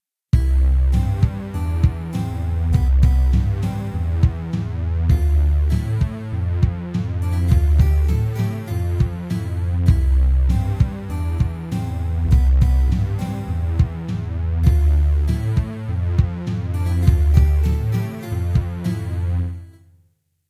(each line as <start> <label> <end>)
0.4 BACKGROUND MUSIC 19.9